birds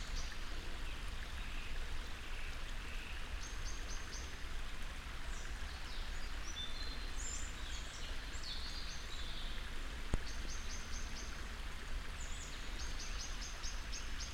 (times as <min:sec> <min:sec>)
0:05.2 0:14.3